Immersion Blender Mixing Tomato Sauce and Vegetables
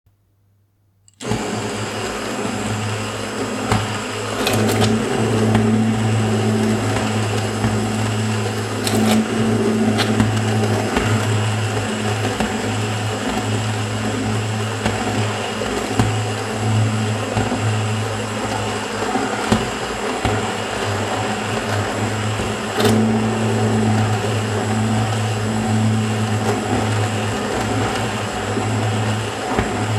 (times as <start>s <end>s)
1.2s 20.5s